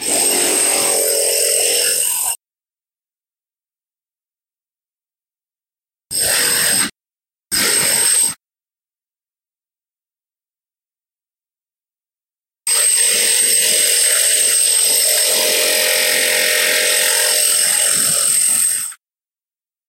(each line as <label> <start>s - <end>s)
Masonry Drill 0.0s - 2.4s
Masonry Drill 6.1s - 8.4s
Masonry Drill 12.7s - 19.0s